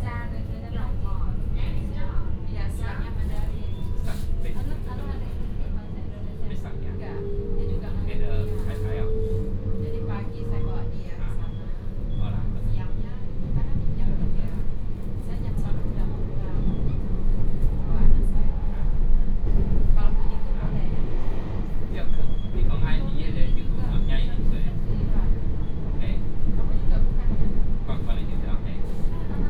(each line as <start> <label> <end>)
0.0 Dialogue in the compartment 29.4